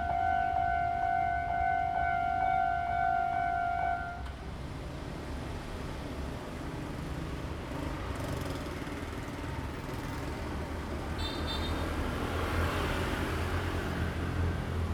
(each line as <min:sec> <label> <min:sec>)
0:00.0 The train passes by 0:06.7
0:00.0 Traffic sound 0:14.9
0:12.0 The train passes by 0:14.9